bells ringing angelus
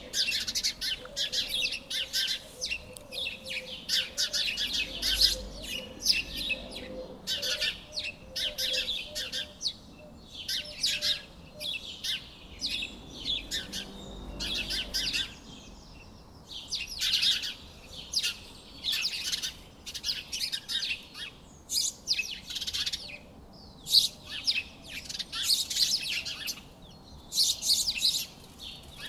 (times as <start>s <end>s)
13.3s 15.5s